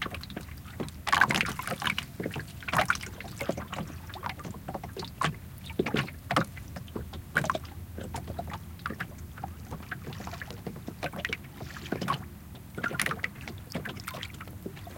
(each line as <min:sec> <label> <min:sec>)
0:00.0 small waves lapping against the boat 0:14.9